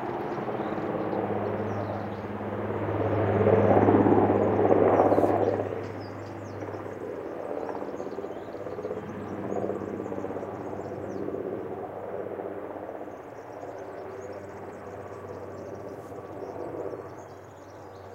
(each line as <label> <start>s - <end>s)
Helicopter makes two passes 0.0s - 6.6s
forest ambiance in background 0.1s - 18.1s